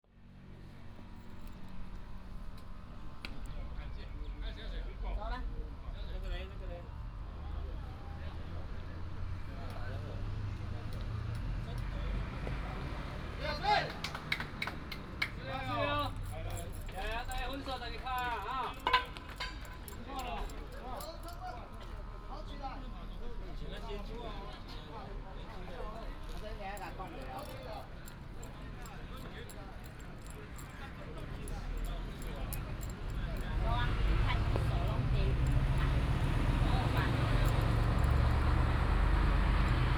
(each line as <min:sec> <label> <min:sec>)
0:00.1 Traffic sound 0:39.9
0:12.4 Playing softball 0:21.8